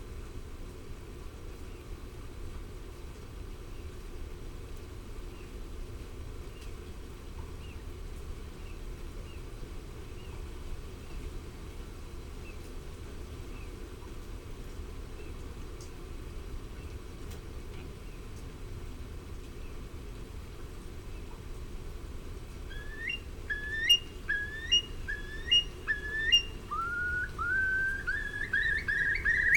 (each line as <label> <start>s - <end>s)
wet and windy 0.0s - 29.5s
grey heron 22.7s - 29.5s
common sandpiper 22.7s - 29.5s
curlew 22.7s - 29.5s